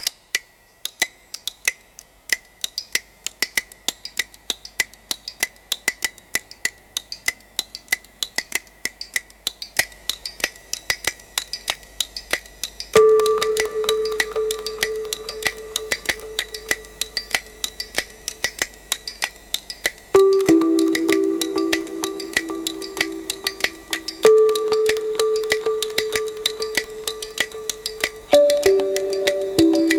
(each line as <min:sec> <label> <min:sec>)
0:20.2 pad 0:29.9